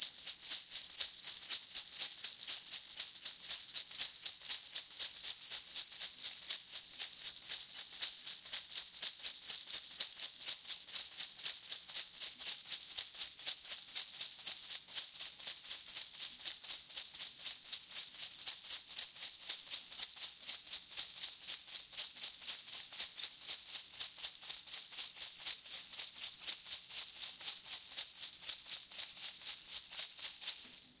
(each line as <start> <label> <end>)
0.0 Sleighbells Shaked 17.3
21.0 Sleighbells Shaked 31.0